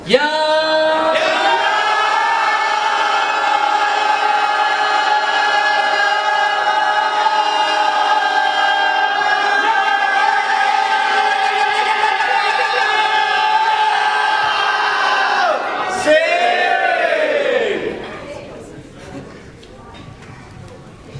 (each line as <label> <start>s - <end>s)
people shout 1.1s - 17.9s